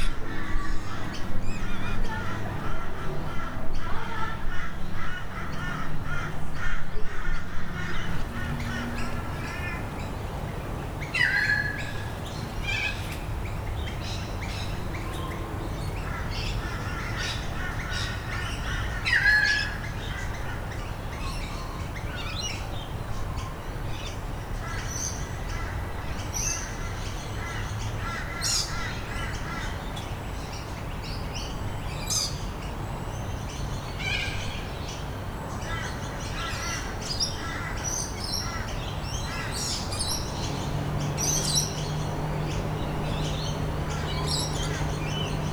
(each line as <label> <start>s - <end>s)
Birds 0.0s - 45.5s
traffic 0.0s - 45.5s